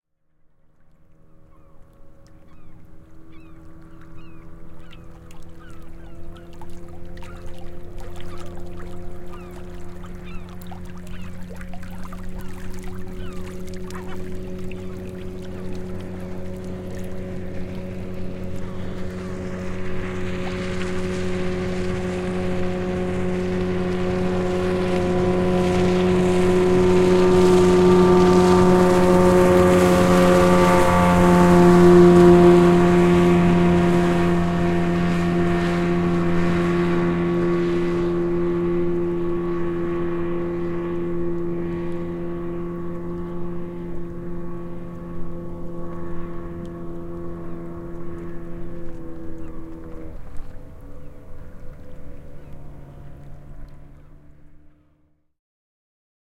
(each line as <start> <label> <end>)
0.1 outboard motor 55.3
0.3 small waves lapping 54.9
1.1 distant seagulls 32.3
41.5 distant seagulls 54.3